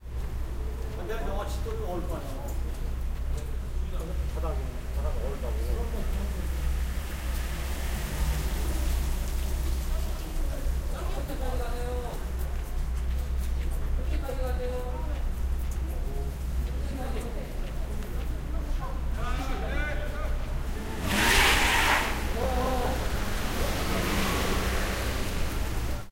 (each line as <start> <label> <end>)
0.9 People talking 6.7
8.6 People talking 21.2
20.9 Car wheels spin 22.5
21.9 People talking 26.1